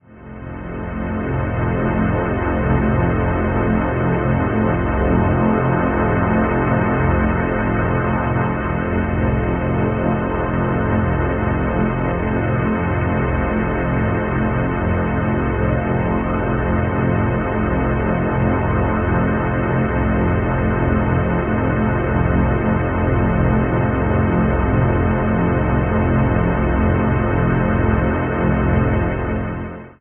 drone 0:00.0 - 0:30.0

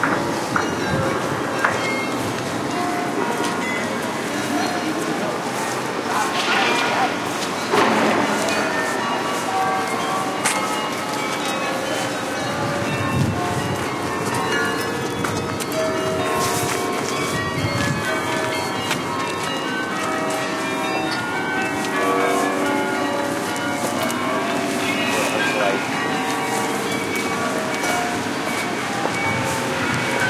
wind noise 0:00.0 - 0:02.7
clock bells 0:00.0 - 0:30.2
voices 0:00.4 - 0:13.9
noise of construction 0:05.7 - 0:11.5
wind noise 0:12.4 - 0:19.2
voices 0:23.8 - 0:30.2
wind noise 0:28.2 - 0:30.2

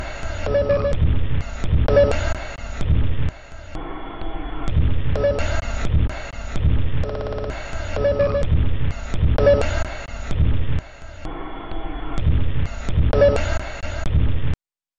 Drum 0:00.0 - 0:03.9
Drum 0:04.6 - 0:11.4
Drum 0:12.1 - 0:14.6

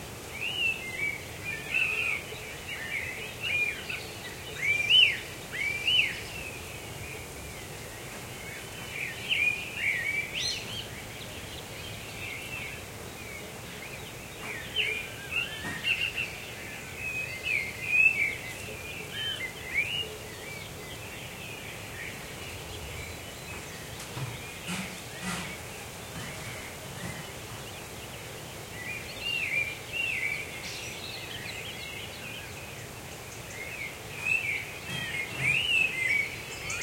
noise coming from a nearby house 0:00.0 - 0:36.8
birds singing 0:00.2 - 0:36.8

